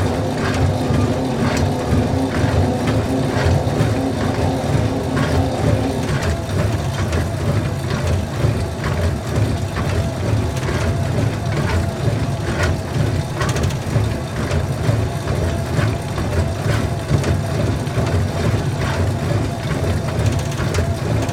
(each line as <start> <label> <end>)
0.0 Treadmill 21.3